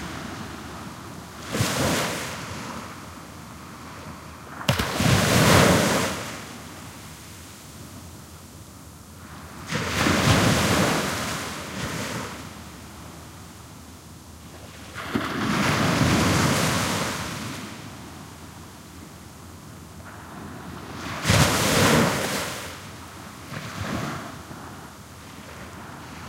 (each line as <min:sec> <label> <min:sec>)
0:00.0 Waves splashing on a sandy beach 0:03.0
0:00.0 very distant waves 0:26.2
0:03.6 Waves splashing on a sandy beach 0:07.3
0:09.3 Waves splashing on a sandy beach 0:12.5
0:20.1 Waves splashing on a sandy beach 0:24.6